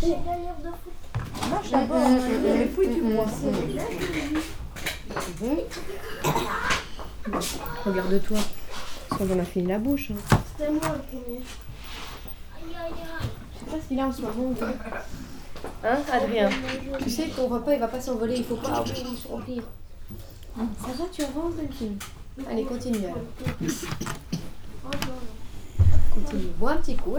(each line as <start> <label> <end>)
0.0 Children make sometimes hard to listen noises 8.5